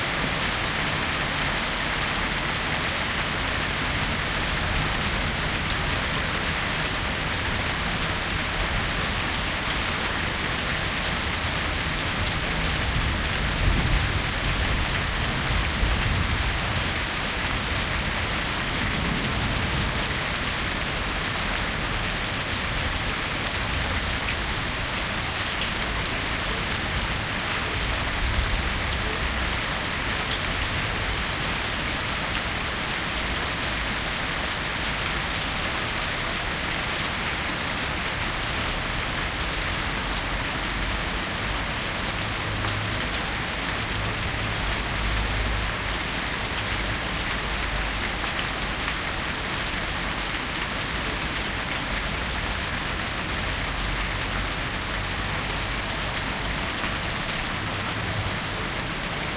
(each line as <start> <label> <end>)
0.0 rainstorm 59.3